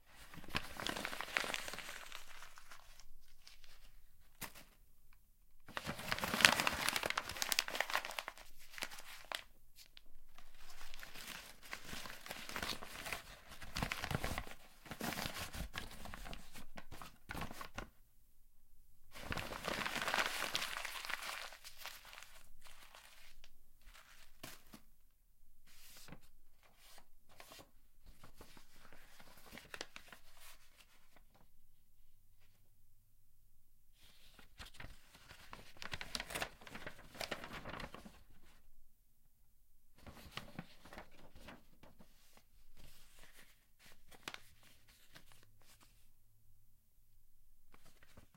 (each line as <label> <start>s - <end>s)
Crumpling office paper into a ball 0.0s - 4.7s
Crumpling office paper into a ball 5.6s - 17.9s
Crumpling office paper into a ball 19.2s - 24.8s
Crumpling office paper into a ball 28.2s - 31.4s
Crumpling office paper into a ball 34.1s - 38.5s
Crumpling office paper into a ball 40.0s - 45.9s